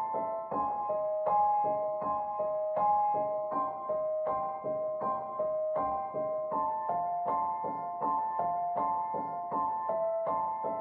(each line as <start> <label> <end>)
0.0 piano 10.8